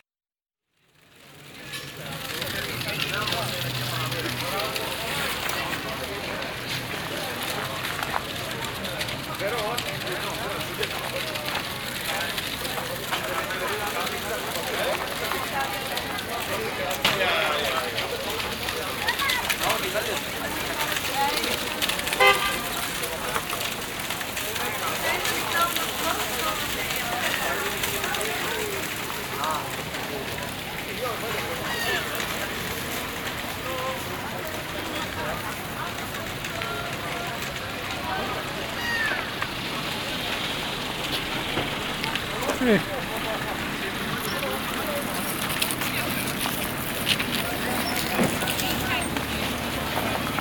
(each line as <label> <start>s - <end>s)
cars 0.8s - 50.4s
Vendors 0.9s - 50.4s
plastic bags 0.9s - 50.4s
snow 1.5s - 50.4s
seagulls 38.7s - 39.3s